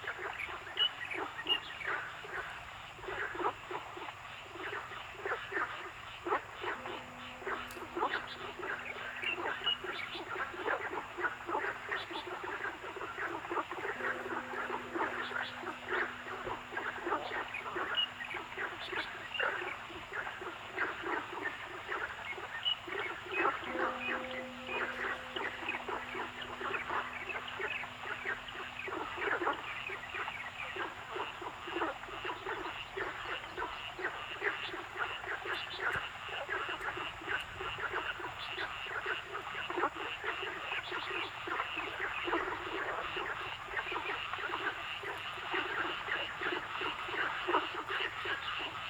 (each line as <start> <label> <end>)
0.0 Frog sounds 48.8
6.6 Bird sounds 32.8